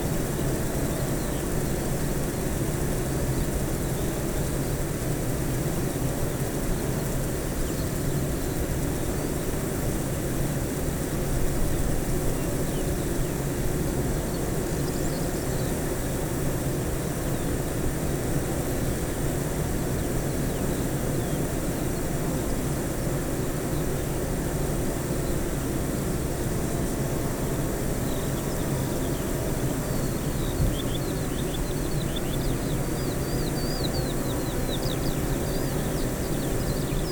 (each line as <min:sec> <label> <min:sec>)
0:00.0 bee hives 0:37.1
0:28.0 skylark 0:37.1